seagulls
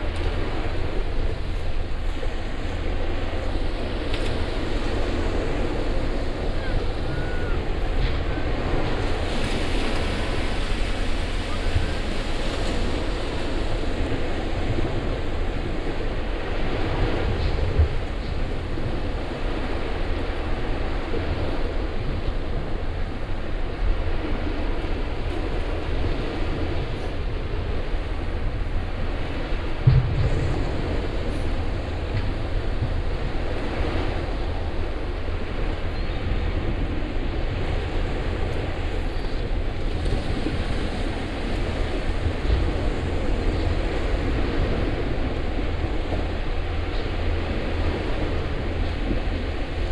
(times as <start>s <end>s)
6.6s 7.6s